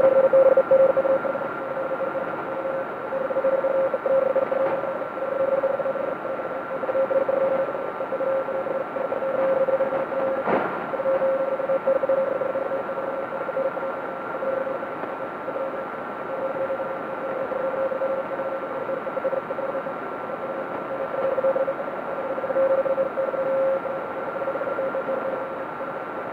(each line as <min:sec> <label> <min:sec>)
0:00.0 data transmissions over shortwave or HF radio frequencies 0:26.3